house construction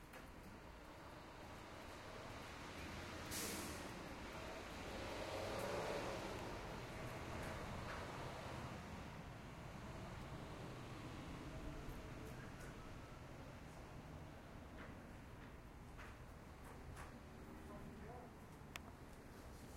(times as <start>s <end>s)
11.6s 19.7s